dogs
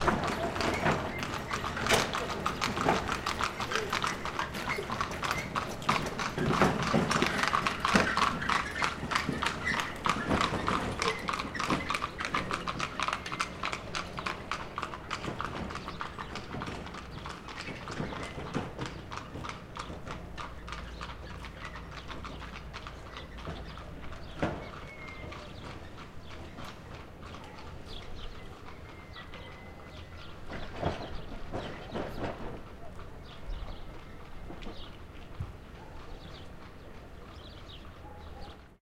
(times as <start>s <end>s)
27.2s 30.1s, 35.6s 37.1s, 37.8s 38.8s